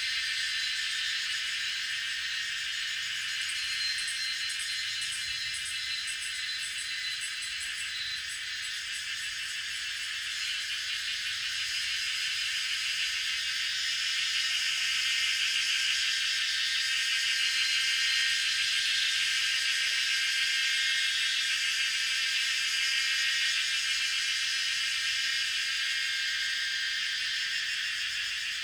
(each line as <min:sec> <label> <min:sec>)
0:00.0 Cicadas sound 0:28.6